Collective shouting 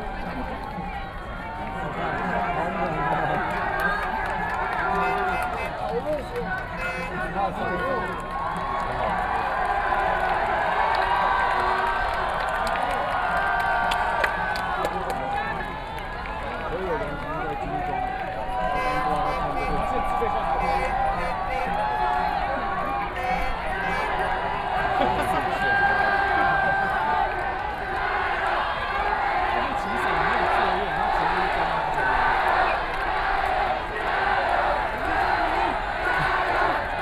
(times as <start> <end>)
3.7 5.9, 17.9 37.0